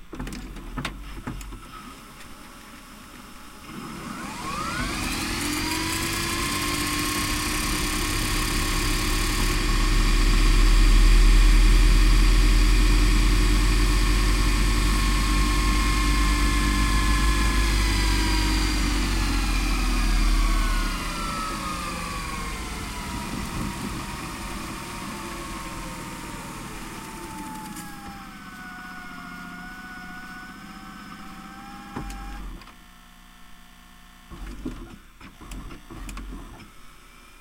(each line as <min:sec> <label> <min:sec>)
0:03.6 Rewinding the tape in the VCR 0:10.8
0:11.6 Rewinding the tape in the VCR 0:32.8